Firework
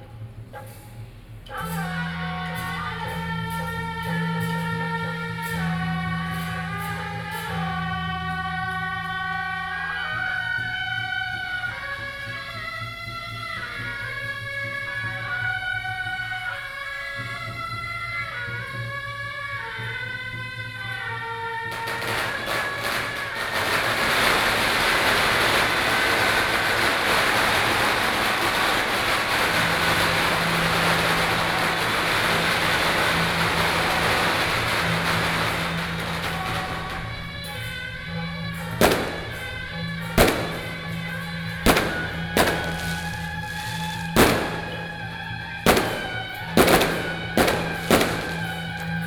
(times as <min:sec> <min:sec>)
0:21.6 0:49.0